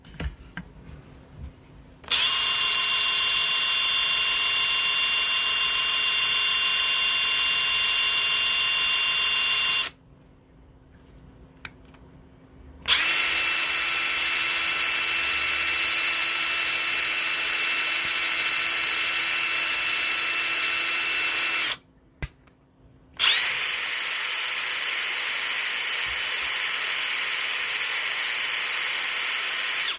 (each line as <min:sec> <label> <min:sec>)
0:02.0 impact wrench starting, running and stopping 0:10.0
0:12.9 impact wrench starting, running and stopping 0:21.8
0:23.2 impact wrench starting, running and stopping 0:29.9